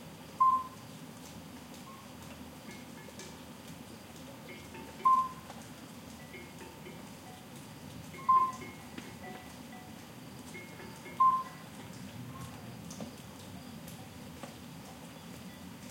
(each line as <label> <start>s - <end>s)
Soft rain 0.0s - 15.9s
murmur of a small stream 1.4s - 9.3s
crickets 1.8s - 15.9s
distant cowbell noise 1.9s - 3.5s
distant cowbell noise 4.4s - 5.5s
common midwife toad 4.5s - 5.4s
distant cowbell noise 6.2s - 7.5s
distant cowbell noise 8.1s - 12.5s
murmur of a small stream 10.1s - 15.9s
common midwife toad 10.6s - 11.7s